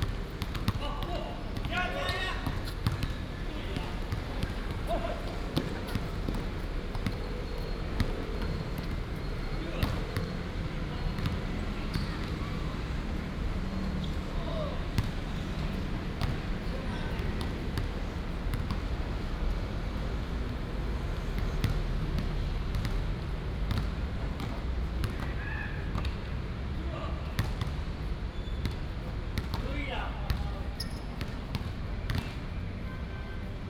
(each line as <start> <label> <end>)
0.0 Traffic sound 33.6